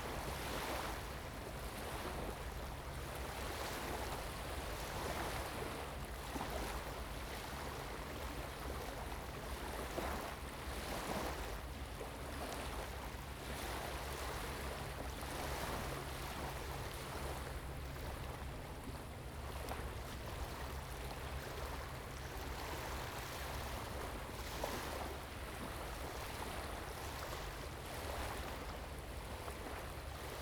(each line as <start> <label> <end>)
0.0 waves 30.4